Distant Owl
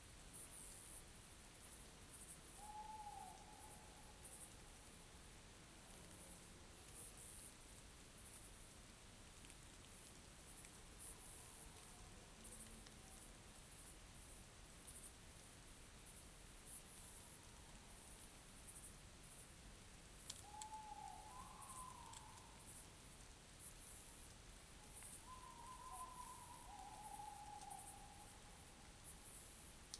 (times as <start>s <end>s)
2.6s 4.1s, 20.4s 22.6s, 25.2s 28.6s